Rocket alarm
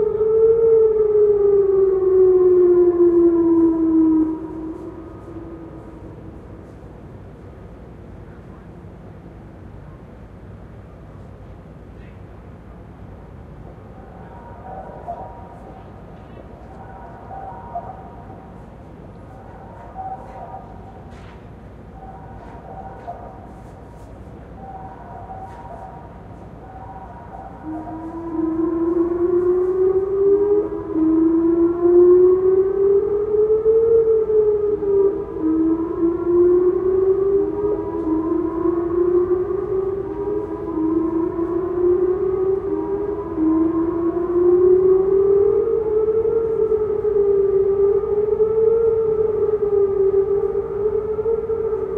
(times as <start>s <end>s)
14.1s 51.9s